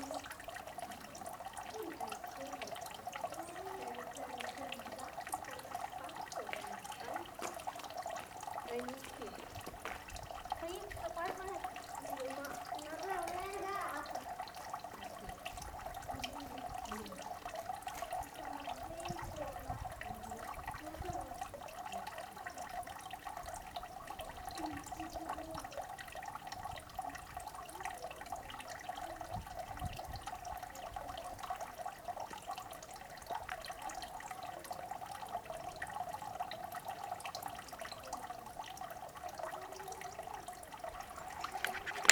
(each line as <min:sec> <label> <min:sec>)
0:00.0 fountain 0:42.1